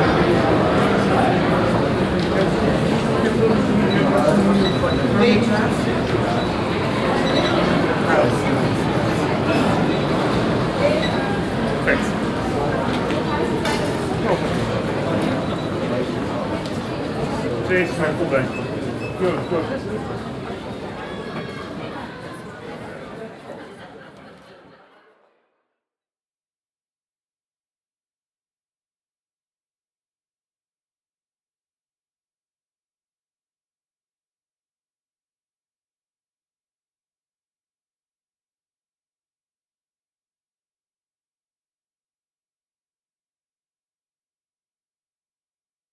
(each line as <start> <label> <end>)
0.0 people talking 25.2